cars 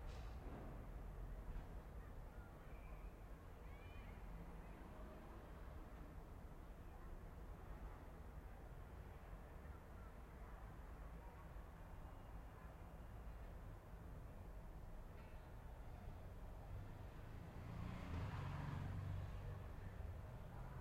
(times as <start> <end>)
13.4 20.8